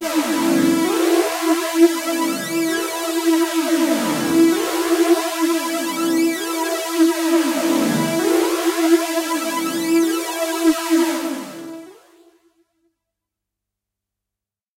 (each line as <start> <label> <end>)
0.1 hard lead sound with added harshness 10.2